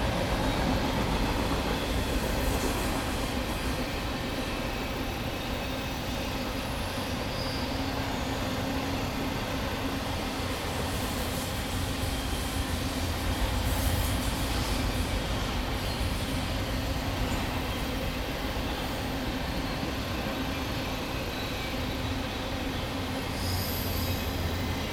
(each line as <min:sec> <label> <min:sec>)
0:00.0 two freight trains crossing bridge over road 0:24.9